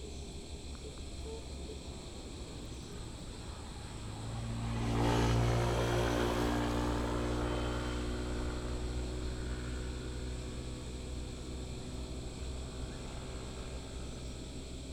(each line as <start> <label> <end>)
0.0 Frogs 14.9
2.5 Traffic Sound 11.4